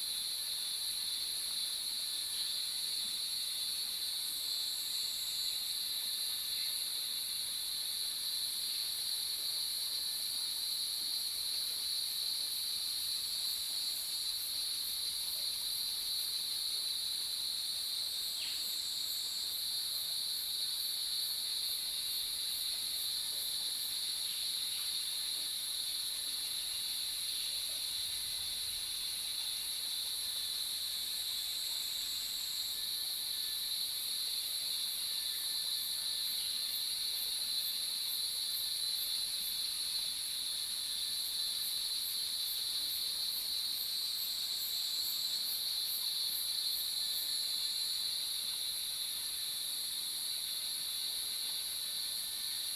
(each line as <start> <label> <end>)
0.0 Cicada sounds 52.7